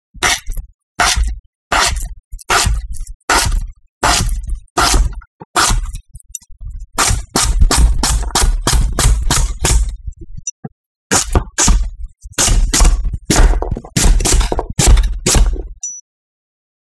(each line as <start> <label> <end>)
0.2 Knife slicing a carrot 6.0
7.0 Knife slicing a carrot 10.0
11.1 Knife slicing a carrot 15.6